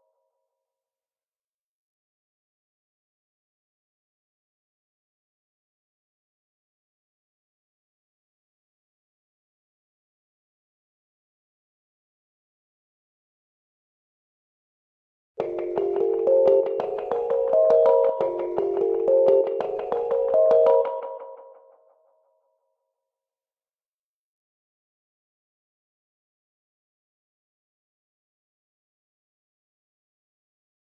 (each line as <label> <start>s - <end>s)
trippy melody 15.4s - 21.6s